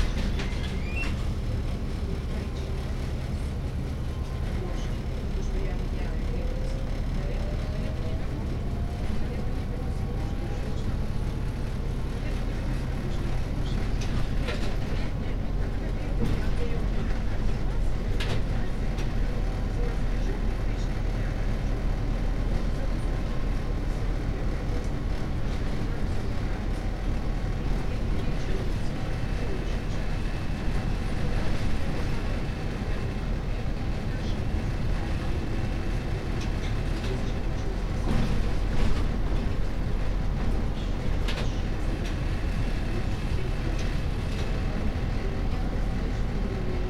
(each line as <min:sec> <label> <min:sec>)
0:00.0 trolleybus ride 0:46.8